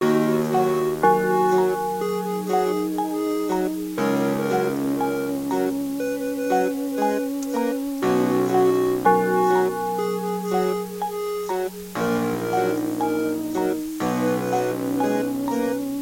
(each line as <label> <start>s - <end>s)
piano 0.0s - 16.0s
synth 0.0s - 16.0s
vocal loops 0.0s - 16.0s